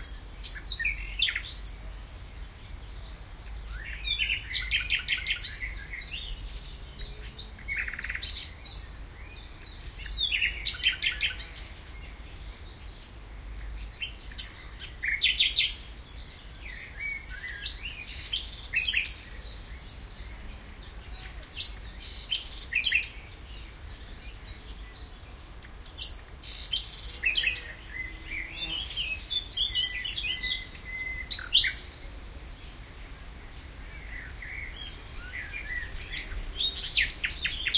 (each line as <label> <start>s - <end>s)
blackbird 0.0s - 37.7s